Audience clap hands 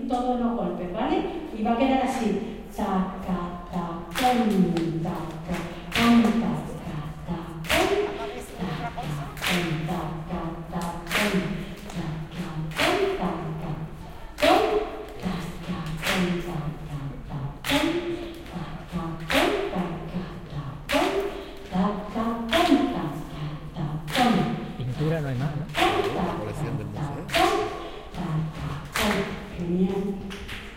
7.6s 10.0s, 11.1s 12.1s, 12.7s 13.2s, 15.9s 16.5s, 24.1s 27.9s, 28.8s 29.5s

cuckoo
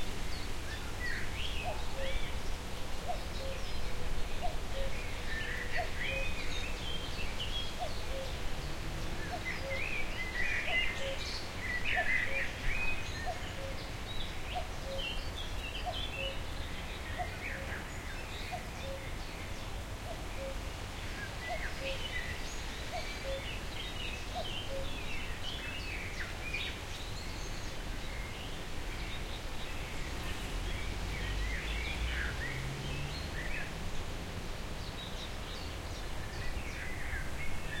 3.0s 3.6s, 7.8s 8.4s, 20.1s 20.6s, 23.0s 23.5s, 24.4s 25.0s

